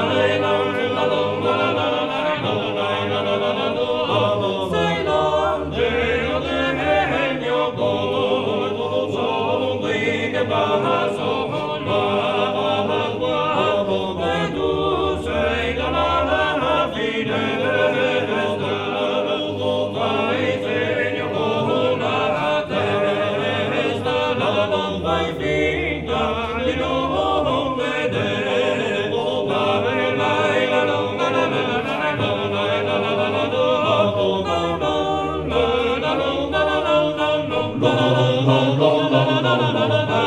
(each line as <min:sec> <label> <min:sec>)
0:00.0 five-voices chant, without instruments 0:40.2